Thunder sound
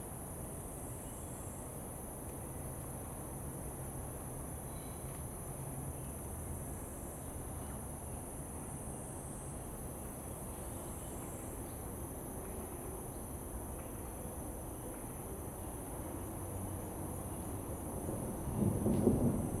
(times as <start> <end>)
18.4 19.6